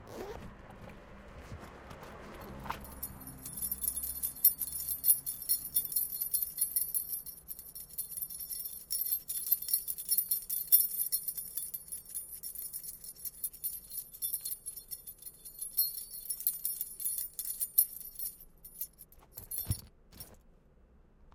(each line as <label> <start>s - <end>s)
Zipper 0.0s - 0.4s
ringing with keys 2.8s - 20.4s